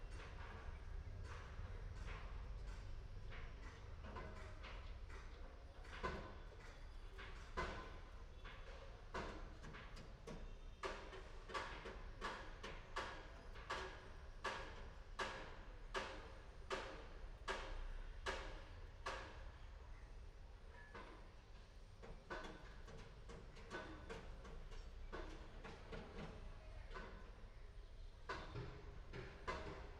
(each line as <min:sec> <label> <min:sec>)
0:00.1 hammer 0:19.4
0:28.3 hammer 0:29.9